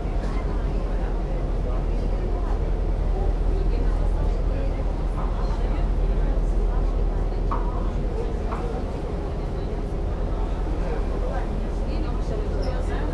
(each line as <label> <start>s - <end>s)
talks of the passengers 0.0s - 13.1s